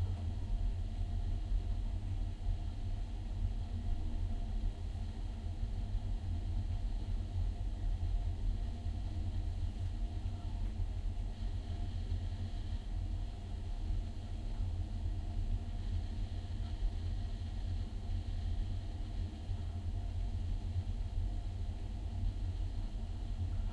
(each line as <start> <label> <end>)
0.0 mechanical ventilation 23.7